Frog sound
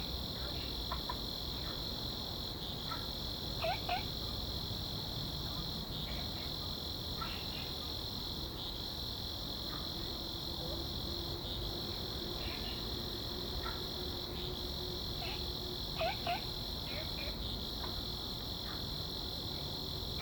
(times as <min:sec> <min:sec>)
0:03.6 0:04.1, 0:16.0 0:18.0